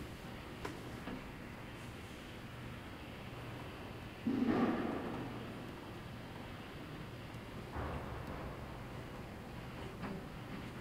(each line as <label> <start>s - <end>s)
Mechanical sound from an automatic window washing machine 0.0s - 10.8s